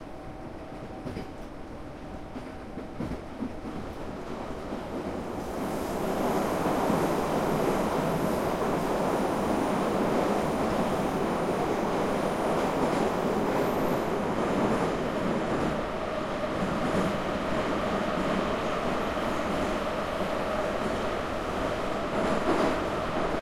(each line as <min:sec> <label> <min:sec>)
0:00.0 metro wagon 0:23.4